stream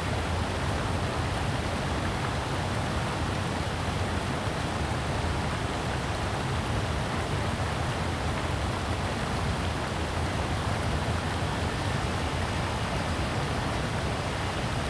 5.8s 14.8s

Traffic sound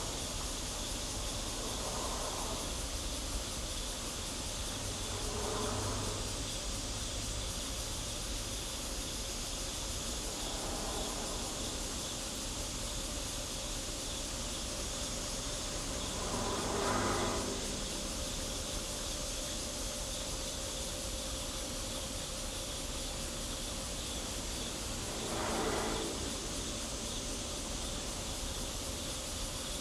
0.0s 8.5s, 14.3s 19.8s, 23.8s 29.8s

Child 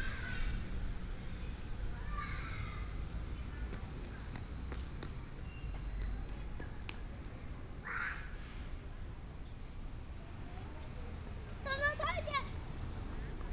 1.8s 3.0s, 11.6s 12.8s

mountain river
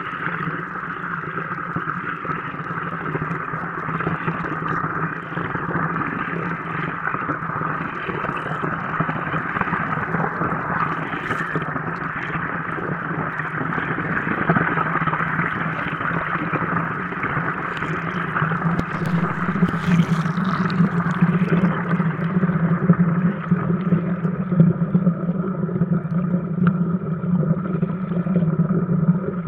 15.4s 22.4s

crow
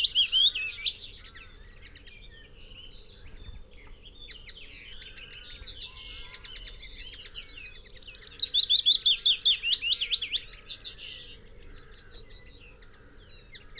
5.0s 7.5s, 8.1s 13.7s

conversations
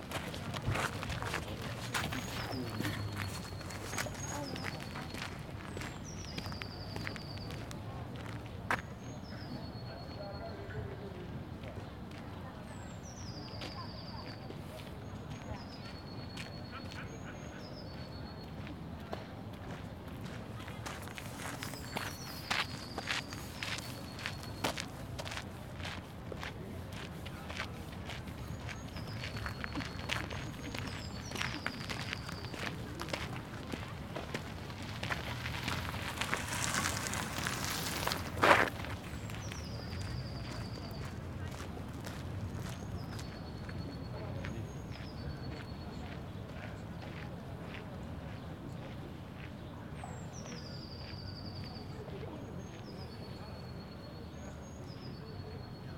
0.0s 18.4s

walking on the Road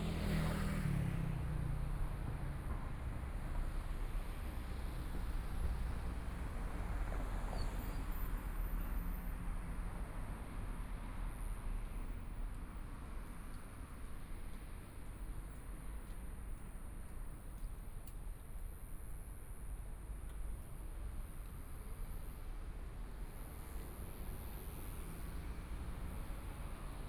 12.5s 19.4s

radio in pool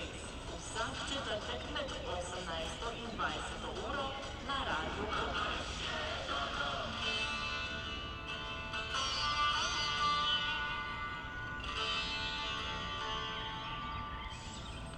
0.0s 7.1s

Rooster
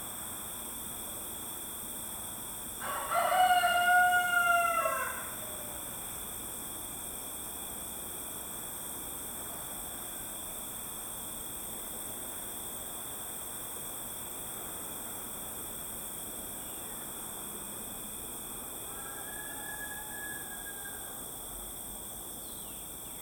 2.8s 5.9s, 18.8s 21.3s

